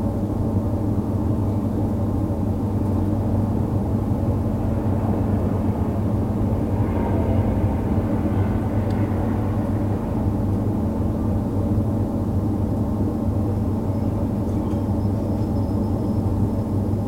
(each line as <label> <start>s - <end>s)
air-conditioning 0.0s - 17.0s